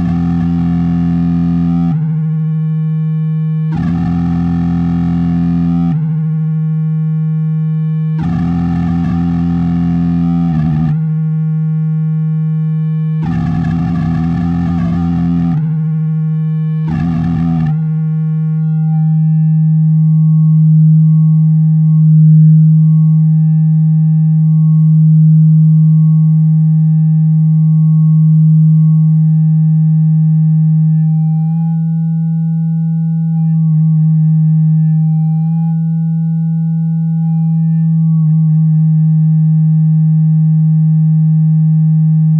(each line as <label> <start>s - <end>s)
feedback loop 0.0s - 39.4s